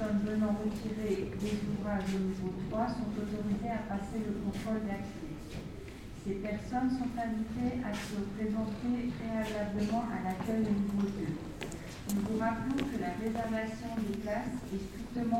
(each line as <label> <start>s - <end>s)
steps 7.9s - 15.0s